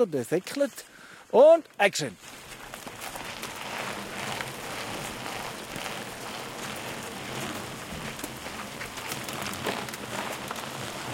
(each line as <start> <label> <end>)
0.0 bikes downhilling a road 11.1